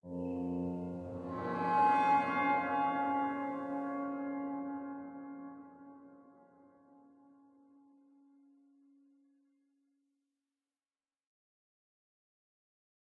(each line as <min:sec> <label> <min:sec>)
0:00.0 Bowed electic guitar 0:08.9